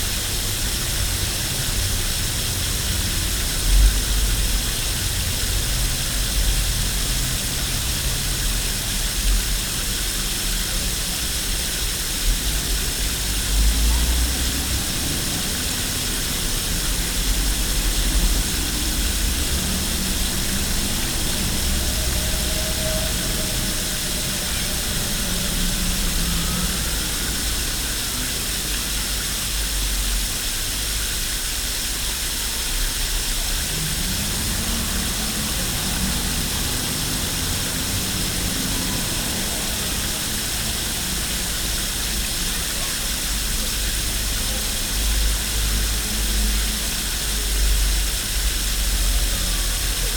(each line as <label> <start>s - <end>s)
water of a firehose runs into a sewer 0.0s - 50.1s